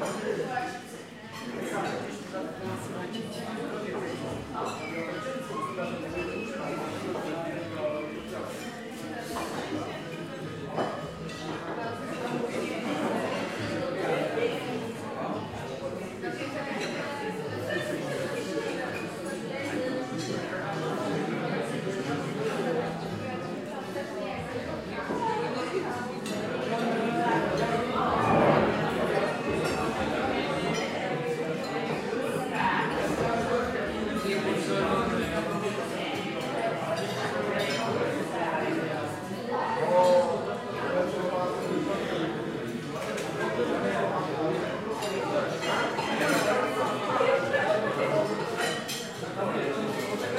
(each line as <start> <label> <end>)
0.0 Gropu of youth eating dinner 50.3